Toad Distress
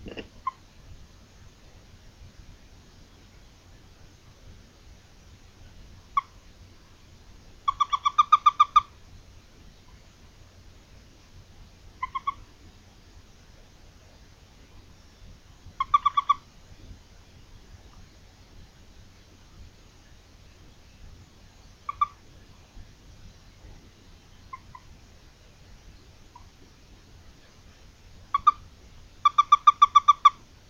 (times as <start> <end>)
0.0 0.6